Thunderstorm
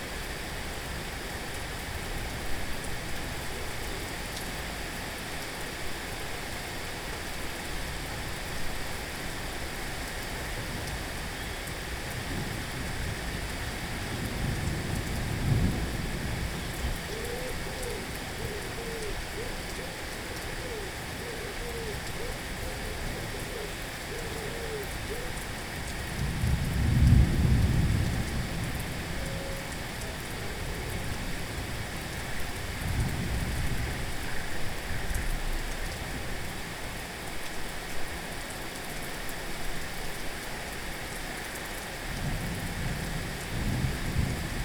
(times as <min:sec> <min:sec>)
0:12.0 0:19.2, 0:24.8 0:35.1, 0:42.0 0:44.6